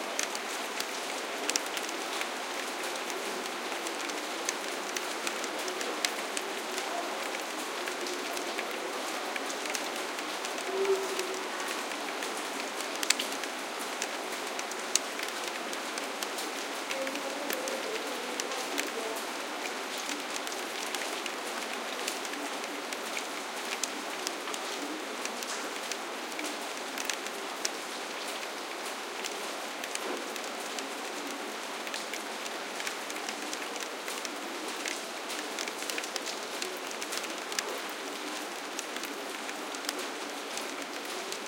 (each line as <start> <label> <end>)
0.0 light.rain.on.blind 41.4